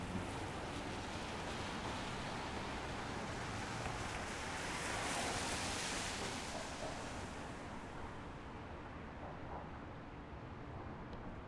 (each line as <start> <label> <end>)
0.0 Car Pass Wet Road 8.5